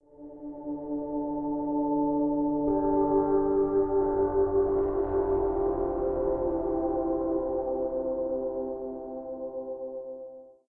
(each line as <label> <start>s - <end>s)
long cinematic pads 2.6s - 9.9s